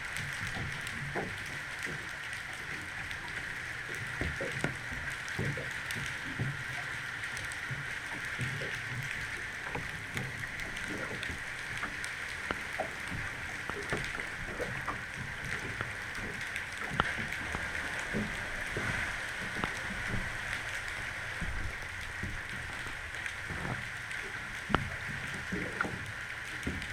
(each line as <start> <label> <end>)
0.0 cargo ship 26.9